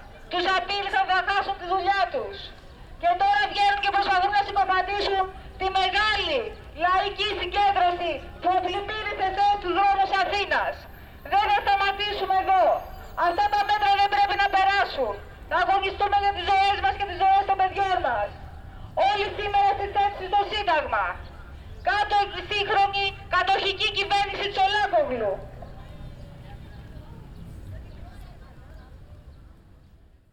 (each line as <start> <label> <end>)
0.0 Call for protest 29.8